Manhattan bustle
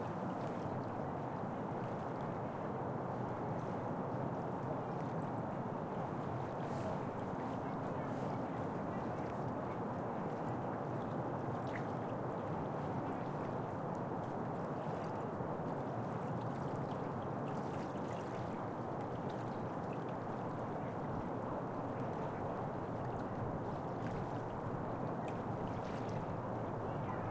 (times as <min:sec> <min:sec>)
0:26.5 0:27.3